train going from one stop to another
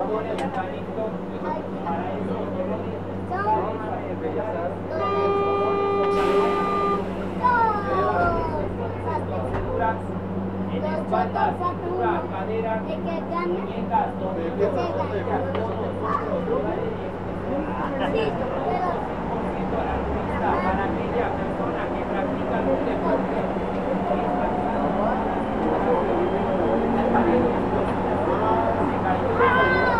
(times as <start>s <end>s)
5.0s 10.7s, 16.8s 29.9s